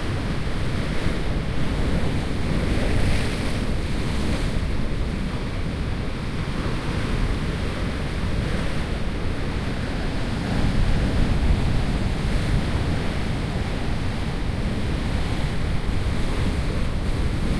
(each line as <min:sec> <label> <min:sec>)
0:00.0 wind 0:17.5